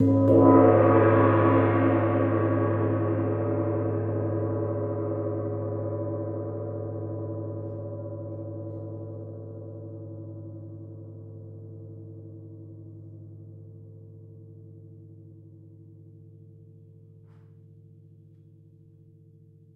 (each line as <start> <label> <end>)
0.0 medium-loud gong strike 9.4